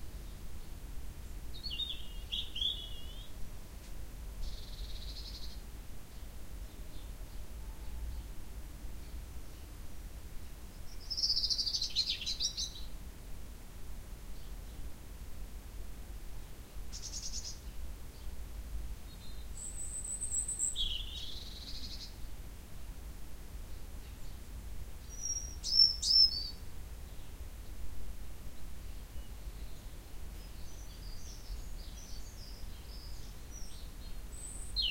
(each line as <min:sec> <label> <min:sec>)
0:00.2 Birdsong 0:03.4
0:04.4 Birdsong 0:08.4
0:10.4 Birdsong 0:13.0
0:16.9 Birdsong 0:18.4
0:19.0 Birdsong 0:22.3
0:23.7 Birdsong 0:27.8
0:28.5 Birdsong 0:34.9